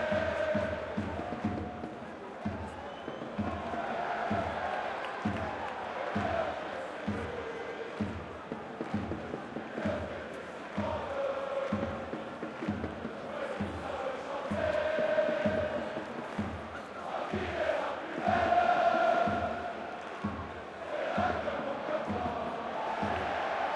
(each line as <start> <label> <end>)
0.0 cheers 8.2
0.0 supporters singing 23.7